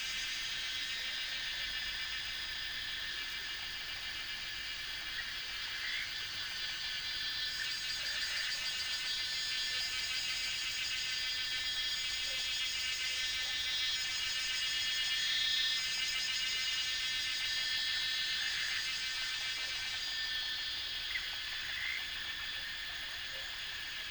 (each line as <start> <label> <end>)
0.0 Cicada sounds 24.1
3.9 Frog sounds 9.0
18.2 Frog sounds 24.1